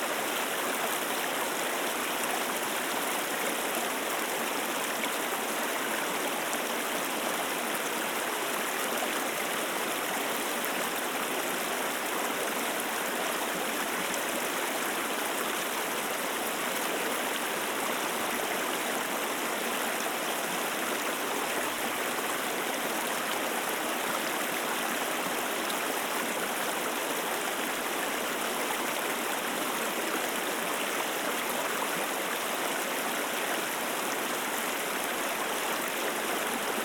Little river flowing through the park 0.0 - 36.8

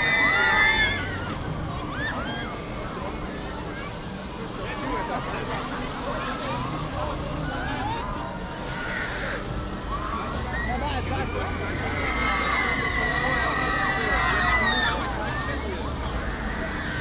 dangerous fun ride 0.0 - 17.0

